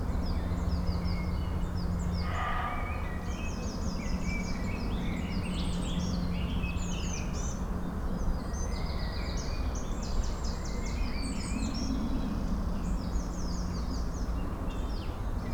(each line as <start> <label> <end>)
0.0 aircraft 15.5